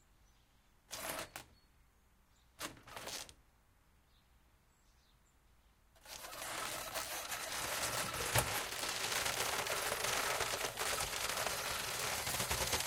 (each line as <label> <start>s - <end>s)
Shutter Blinds 0.9s - 1.5s
Shutter Blinds 6.0s - 12.8s
electric motor 6.0s - 12.8s